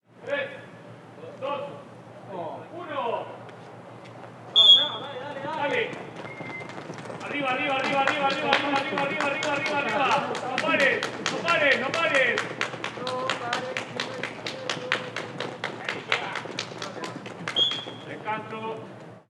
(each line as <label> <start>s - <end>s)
people running 4.2s - 19.2s
whistle of a sports coach 4.5s - 5.0s
whistle of a sports coach 6.3s - 6.7s
whistle of a sports coach 17.6s - 18.1s